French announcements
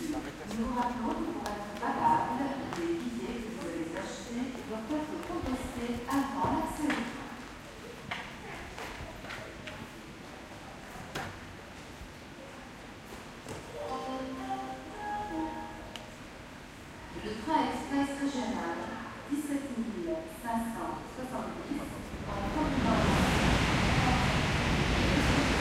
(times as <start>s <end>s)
0.0s 7.3s, 13.8s 16.1s